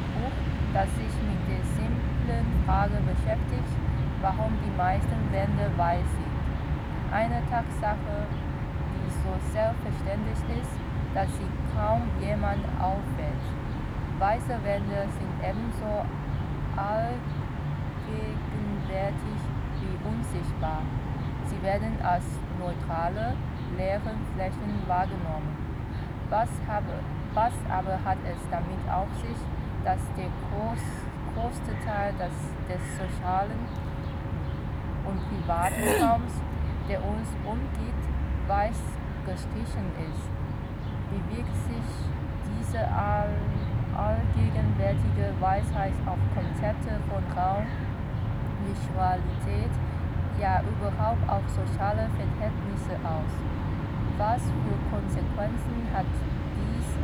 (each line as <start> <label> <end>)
35.1 reading group 36.4